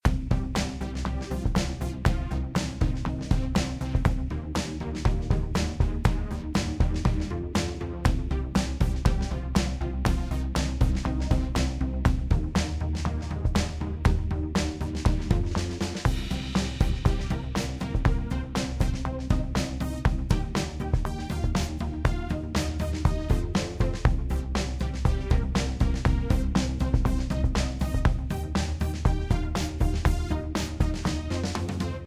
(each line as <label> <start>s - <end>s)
Upbeat funky electronic loop 0.1s - 32.0s